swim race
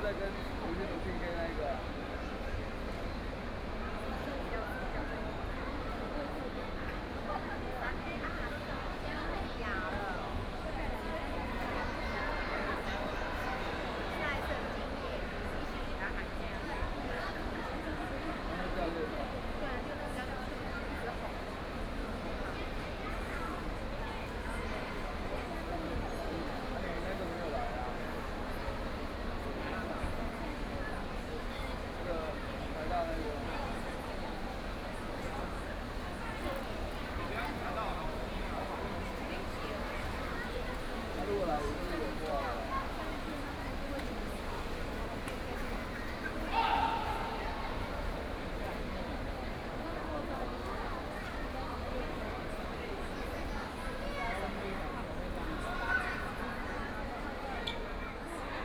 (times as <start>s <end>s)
24.3s 58.4s